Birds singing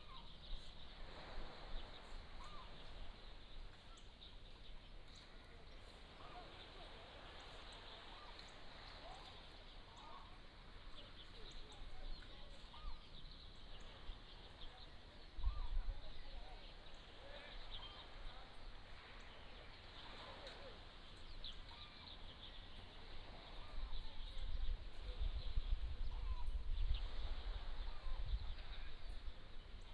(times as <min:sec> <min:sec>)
0:07.4 0:29.9